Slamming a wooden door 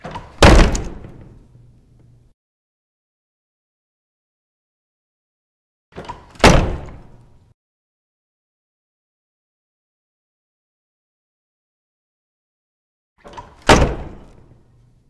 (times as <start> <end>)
0.0 1.4, 6.0 7.2, 13.2 14.5